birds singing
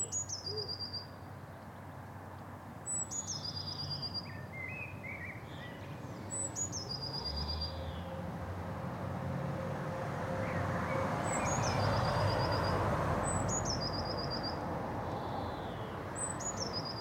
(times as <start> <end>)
0.0 1.7, 2.8 8.2, 10.4 17.0